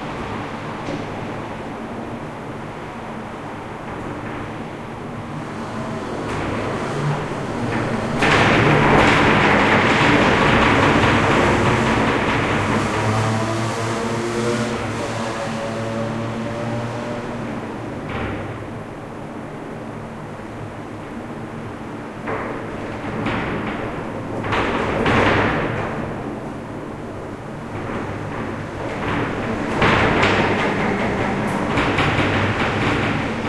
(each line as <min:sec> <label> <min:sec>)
0:00.0 wind in city 0:33.4